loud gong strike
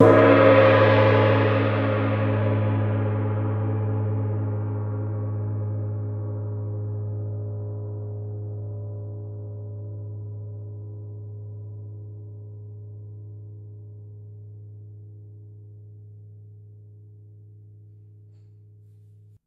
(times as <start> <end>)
0.0 7.4